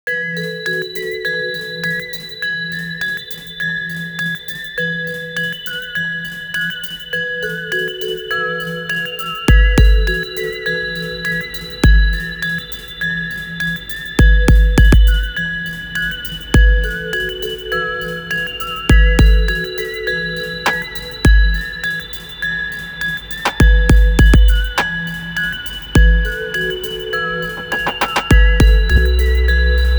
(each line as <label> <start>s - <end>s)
beat 9.5s - 10.3s
beat 11.6s - 12.4s
beat 14.2s - 15.4s
beat 16.6s - 17.6s
beat 18.4s - 29.9s
trill melody 23.4s - 29.9s
bass 28.3s - 29.9s